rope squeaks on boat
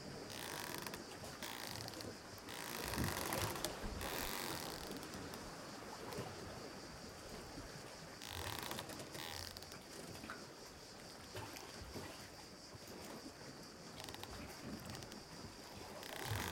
0.3s 5.4s, 8.2s 9.8s, 14.0s 16.5s

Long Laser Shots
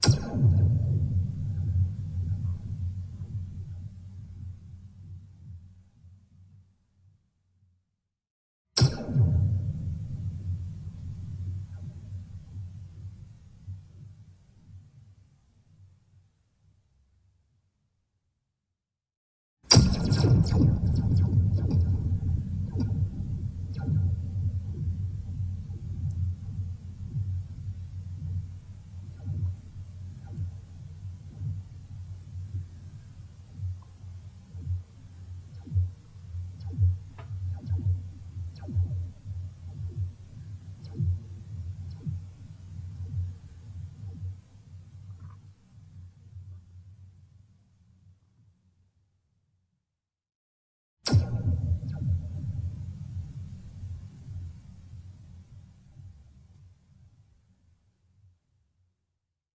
0.0s 1.0s, 19.7s 25.0s

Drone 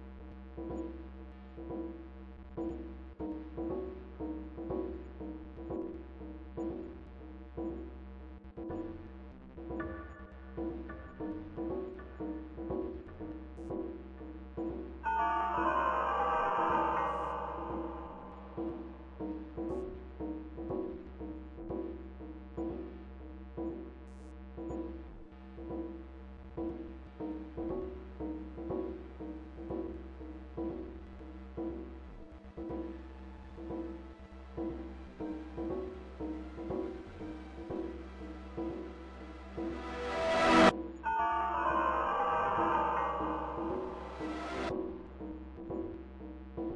15.0s 19.9s, 32.2s 45.2s

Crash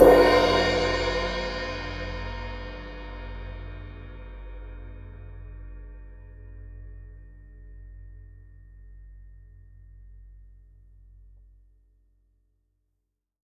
0.0s 2.7s

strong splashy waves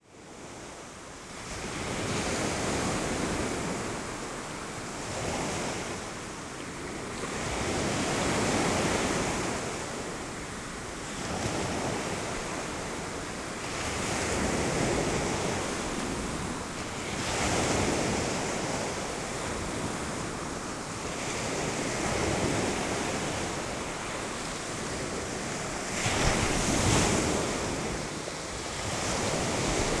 7.0s 30.0s

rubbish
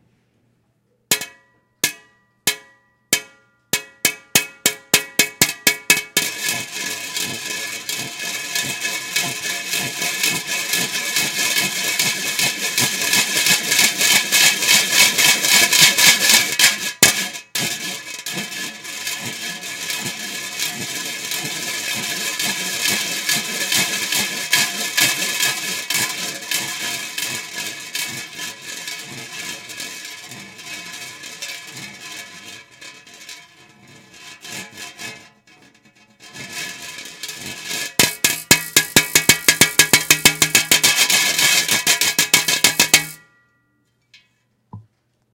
37.6s 43.2s

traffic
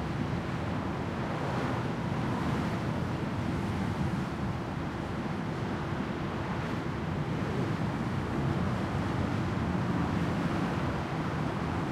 6.5s 11.9s

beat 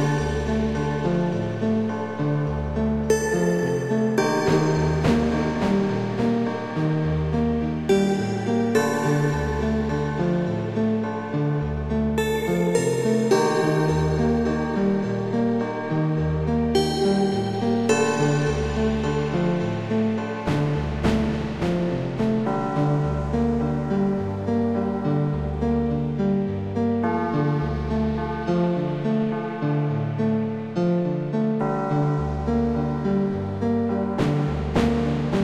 4.2s 7.1s, 17.9s 24.2s, 34.2s 35.4s

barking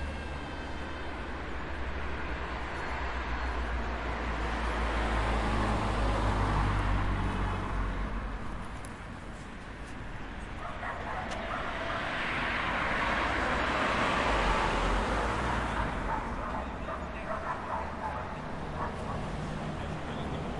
10.6s 12.1s, 16.0s 19.4s

